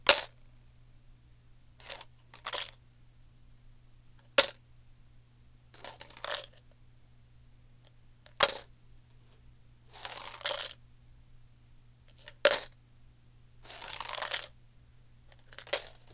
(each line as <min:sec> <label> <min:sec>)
0:01.8 flipping a plastic bottle with coins up and down 0:02.8
0:05.8 flipping a plastic bottle with coins up and down 0:06.6
0:10.0 flipping a plastic bottle with coins up and down 0:10.8
0:13.7 flipping a plastic bottle with coins up and down 0:14.5
0:15.3 flipping a plastic bottle with coins up and down 0:16.1